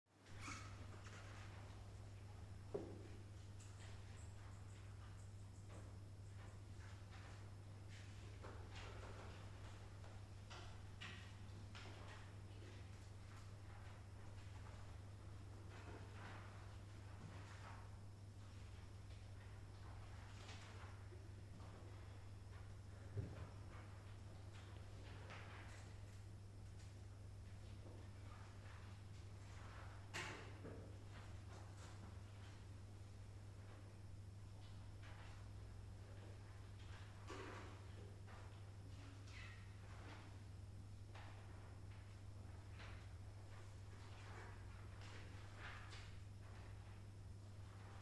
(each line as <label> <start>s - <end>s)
students writing an exam 0.7s - 30.2s